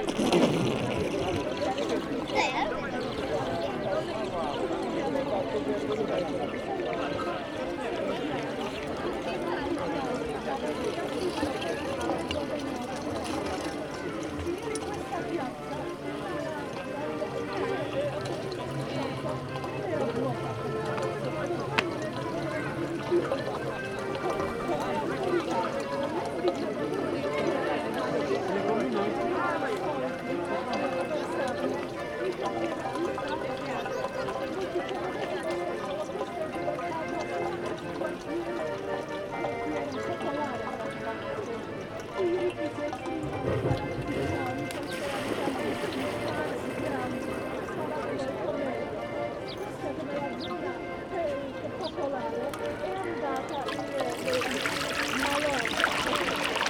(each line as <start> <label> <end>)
0.0 Fontanna 56.6